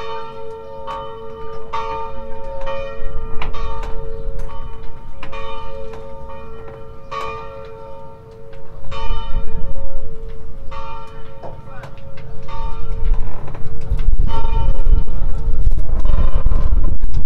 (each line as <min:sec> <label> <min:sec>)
0:00.0 Church Bells 0:17.0
0:00.0 wind 0:17.2
0:11.4 voices 0:12.3
0:11.8 crackling sound 0:17.2